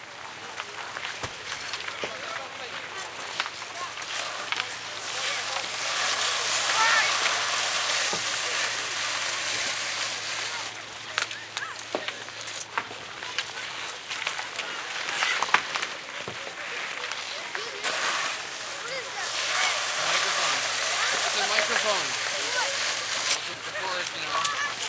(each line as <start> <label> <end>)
0.3 skating 24.8
0.9 kid pushing shovel on ice 24.8
3.0 kids 24.8